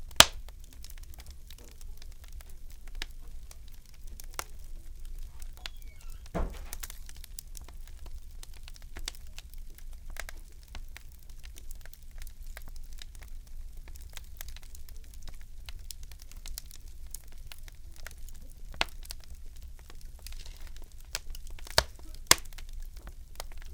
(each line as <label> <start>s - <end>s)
furnace crackle firewood 0.0s - 23.7s